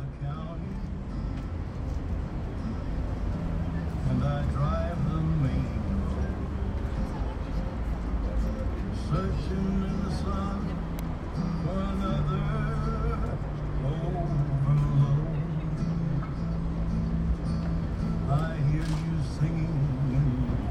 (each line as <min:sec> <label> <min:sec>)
0:00.0 street car's noise 0:20.7
0:00.0 voice of people passing by 0:20.7